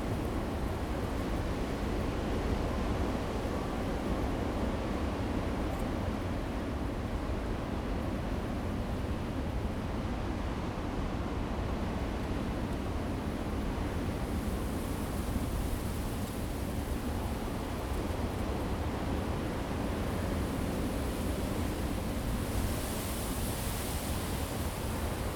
waves 0:14.9 - 0:25.3

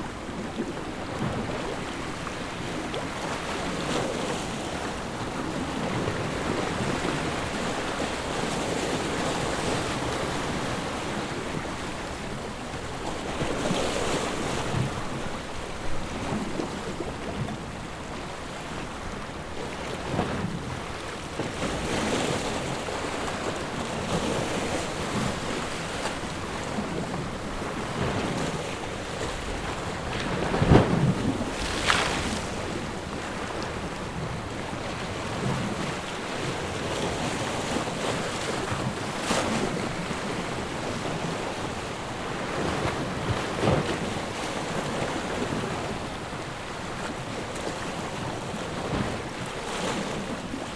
Sea hitting a big rock plato 0:30.4 - 0:34.4

